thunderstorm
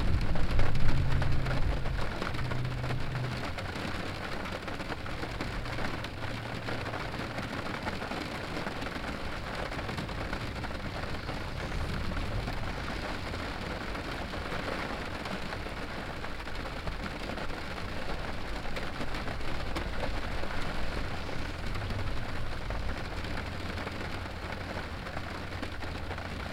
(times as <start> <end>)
0.0 6.0, 9.3 16.5